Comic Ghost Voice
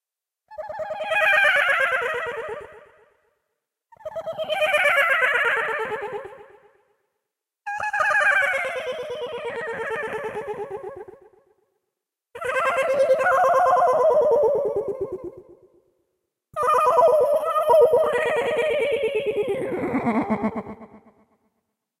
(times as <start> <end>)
16.6 21.1